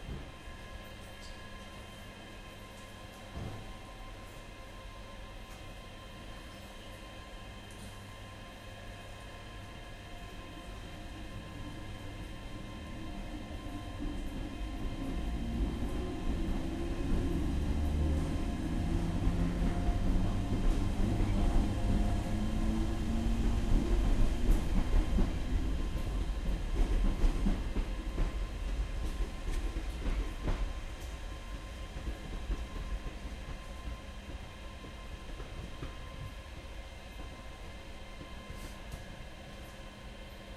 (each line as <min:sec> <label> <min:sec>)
0:00.0 train departing towards the end of the recording 0:40.5
0:02.4 another train departing on the background 0:40.5
0:03.3 train doors closing 0:03.8